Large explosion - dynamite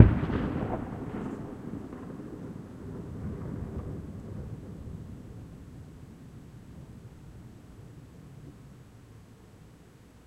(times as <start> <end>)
0.0 5.8